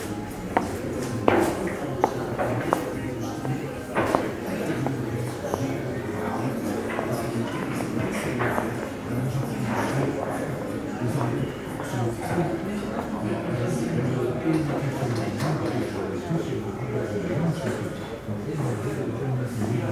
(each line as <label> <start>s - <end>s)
snooker pool 0.0s - 13.2s